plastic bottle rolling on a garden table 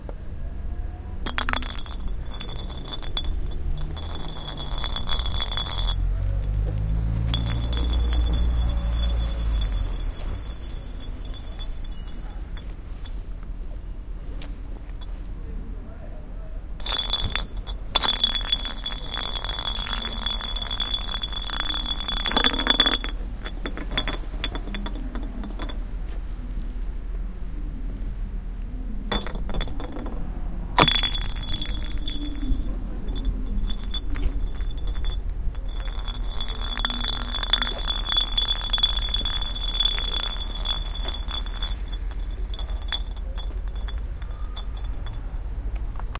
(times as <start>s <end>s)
1.4s 9.6s, 30.8s 45.2s